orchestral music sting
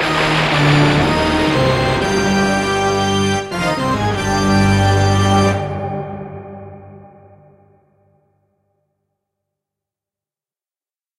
0.0 7.8

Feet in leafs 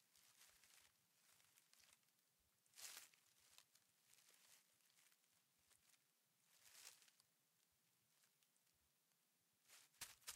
0.2 2.0, 2.8 5.1, 6.5 7.2, 9.7 10.3

